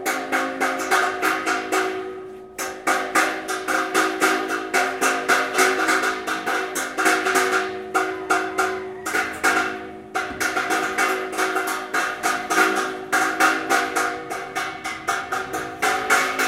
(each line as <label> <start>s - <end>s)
blacksmiths working 2.6s - 16.4s